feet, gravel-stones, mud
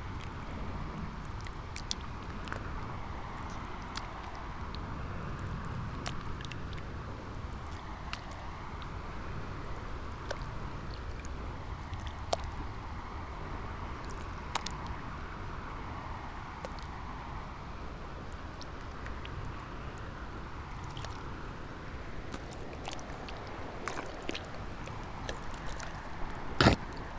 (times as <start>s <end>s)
22.3s 27.1s